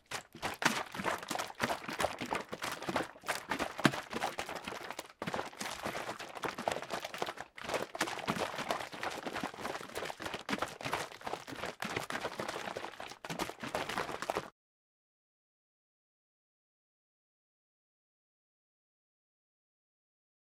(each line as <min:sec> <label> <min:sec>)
0:00.0 Splashing bleach in container 0:14.5